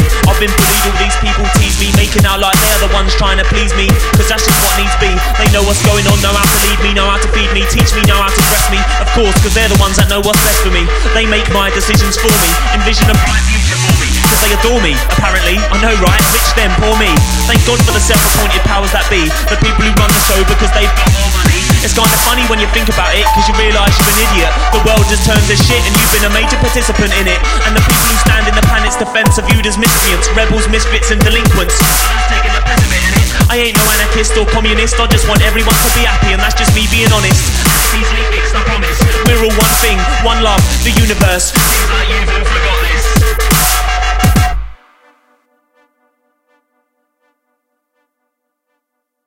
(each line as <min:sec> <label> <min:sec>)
0:00.0 vocal 0:44.8
0:00.0 bass 0:44.8
0:00.0 perc 0:44.8
0:12.5 synth 0:20.3
0:19.4 hats 0:32.2
0:21.0 synth 0:35.2
0:43.5 snare 0:43.9